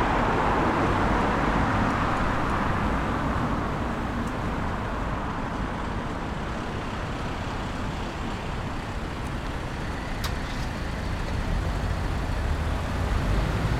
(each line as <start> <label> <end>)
0.0 Traffic 13.7